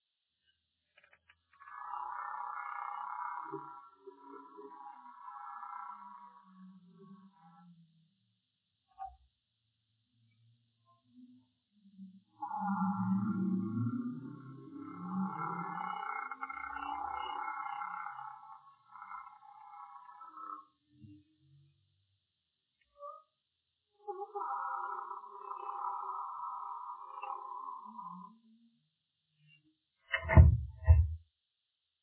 door 30.1 - 31.2

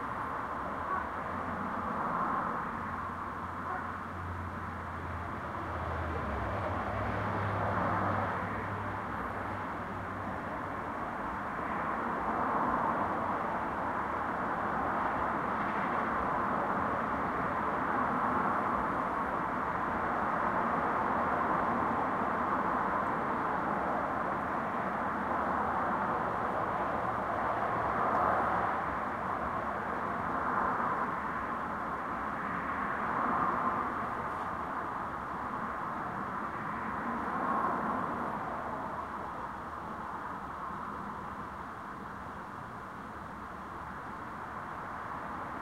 truck 0.0 - 32.2
Cars can be heard driving by 0.0 - 45.6
cars drive into the parking lot 0.0 - 45.6
wind 0.0 - 45.6
faint talking 0.6 - 1.5
faint talking 3.6 - 4.3

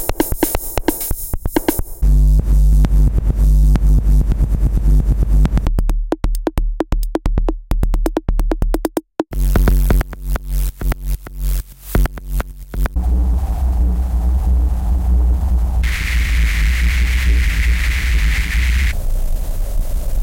distortion 0.0 - 5.7
drum loop 0.0 - 13.0
distortion 9.3 - 20.2

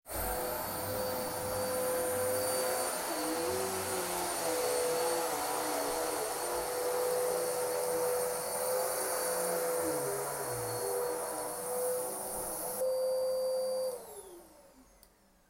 Vacuum working 0.0 - 15.3

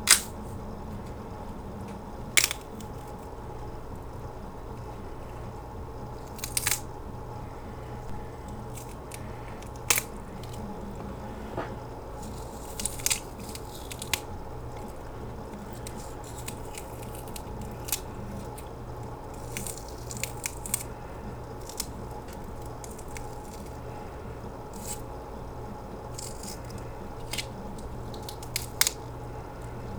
Bones breaking 0.0 - 0.6
Bones breaking 2.3 - 3.2
Bones breaking 6.2 - 6.9
Bones breaking 8.1 - 23.8
Bones breaking 26.1 - 29.8

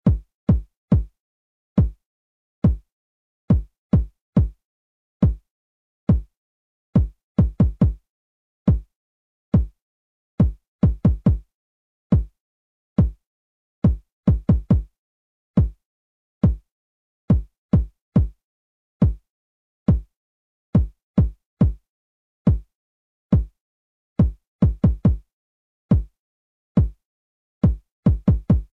kick pattern 7.0 - 8.0
kick pattern 24.2 - 25.2
kick pattern 27.6 - 28.7

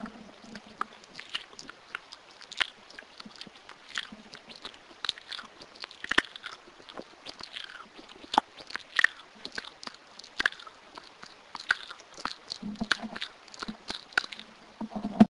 mouth making noises 0.0 - 15.3

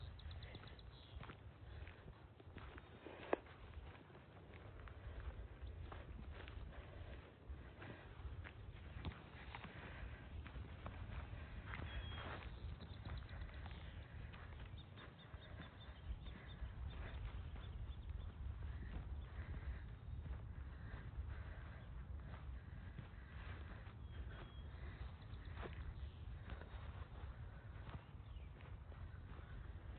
birdsong 0.0 - 29.9

